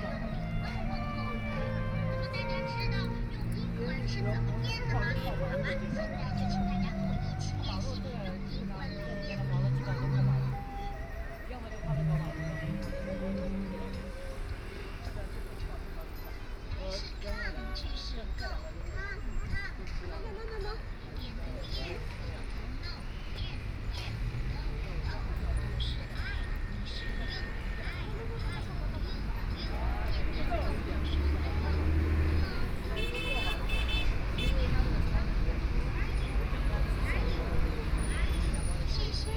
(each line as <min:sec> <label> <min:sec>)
0:00.0 Traffic Sound 0:39.3